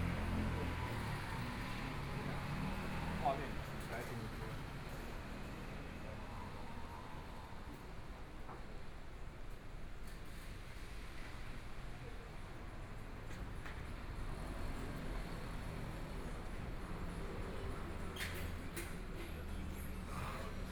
0.0s Traffic Sound 7.8s
12.5s Traffic Sound 20.7s

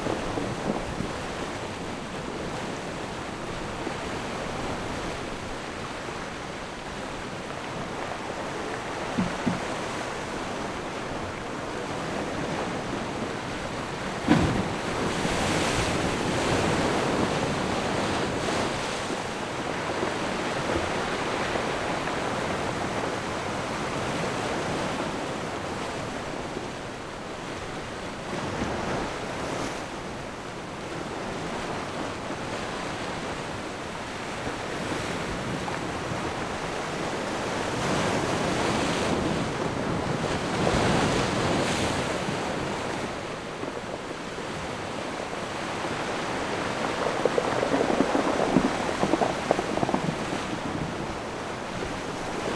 45.4s Big Wave 52.5s

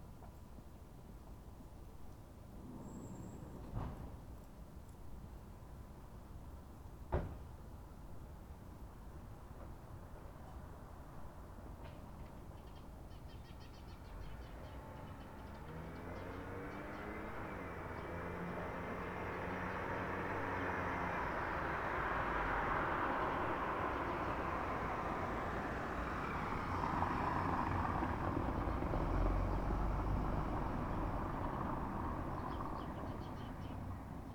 9.2s pedestrians 34.3s
12.3s birds 21.8s
13.9s cars 34.3s
30.6s birds 34.3s

